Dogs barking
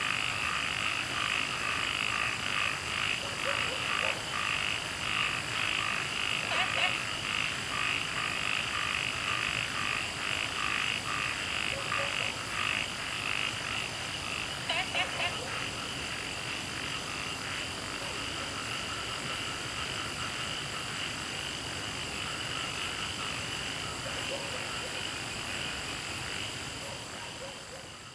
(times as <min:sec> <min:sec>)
0:03.2 0:04.4, 0:06.4 0:07.0, 0:11.7 0:12.4, 0:24.0 0:25.1, 0:26.8 0:28.0